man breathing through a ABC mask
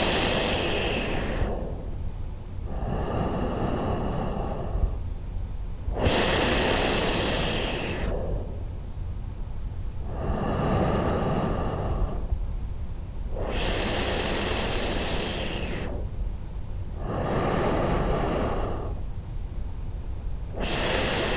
0:00.0 0:05.1, 0:05.9 0:08.8, 0:10.0 0:12.5, 0:13.3 0:16.2, 0:16.9 0:19.1, 0:20.5 0:21.3

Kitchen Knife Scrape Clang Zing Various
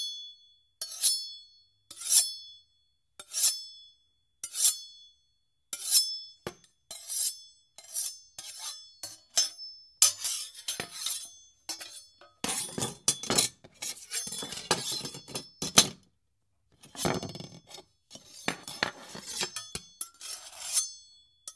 0:06.9 0:16.0, 0:16.9 0:21.5

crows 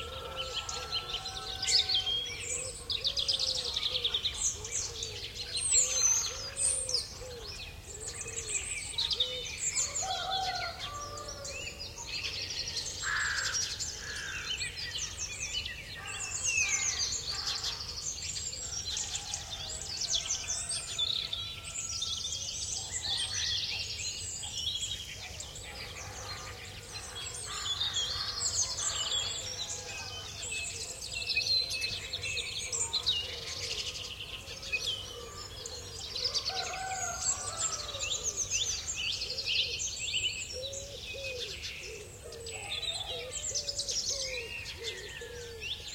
0:00.0 0:07.4, 0:09.2 0:11.5, 0:12.8 0:14.8, 0:16.0 0:18.1, 0:25.8 0:30.8, 0:32.8 0:39.4

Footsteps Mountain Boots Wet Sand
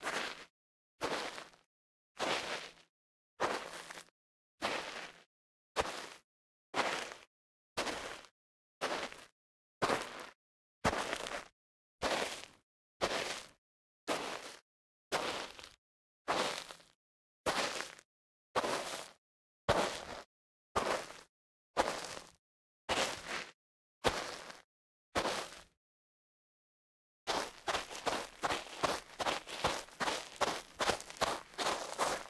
0:00.0 0:01.6, 0:02.2 0:02.8, 0:03.4 0:05.2, 0:05.8 0:06.2, 0:06.8 0:10.3, 0:10.9 0:13.5, 0:14.1 0:14.6, 0:15.2 0:16.9, 0:17.5 0:18.0, 0:18.6 0:24.6, 0:25.2 0:25.7, 0:27.3 0:32.2

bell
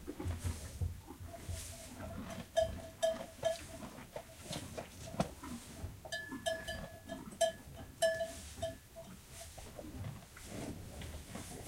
0:02.6 0:03.8, 0:06.1 0:09.6

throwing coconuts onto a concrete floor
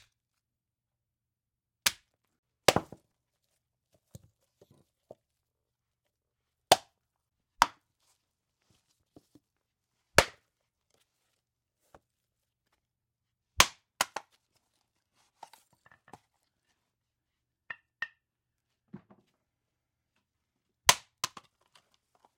0:18.9 0:19.4

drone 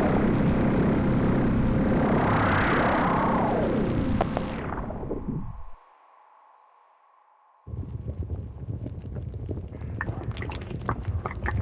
0:00.0 0:07.8

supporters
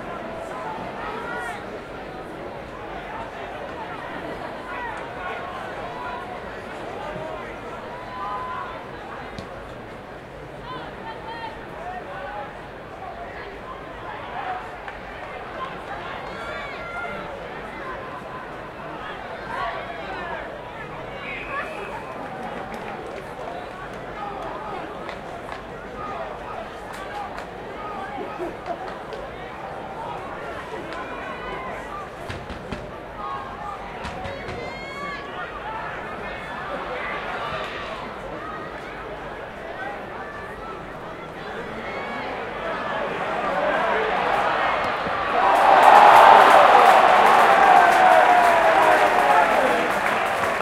0:40.8 0:50.6

